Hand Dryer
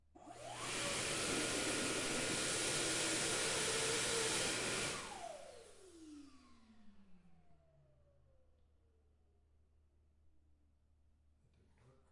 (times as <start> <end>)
0.2 6.9